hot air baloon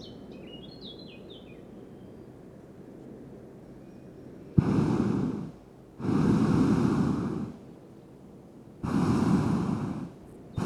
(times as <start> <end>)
4.6 7.7, 8.8 10.6